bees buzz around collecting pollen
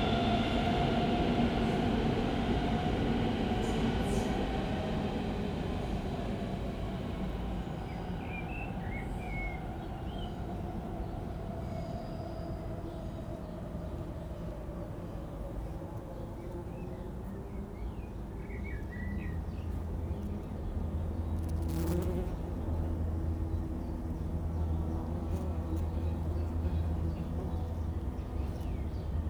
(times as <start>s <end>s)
19.2s 29.2s